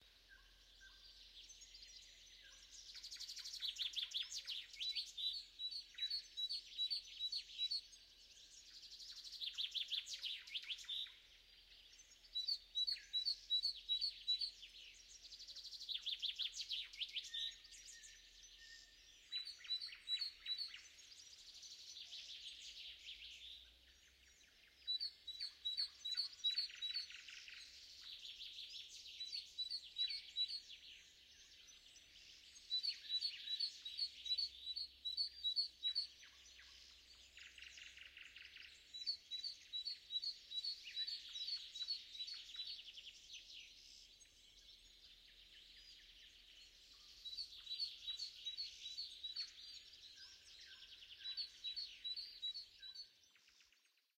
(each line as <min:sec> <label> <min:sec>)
0:00.0 nightingale 0:54.1
0:08.3 choirs of crickets 0:23.1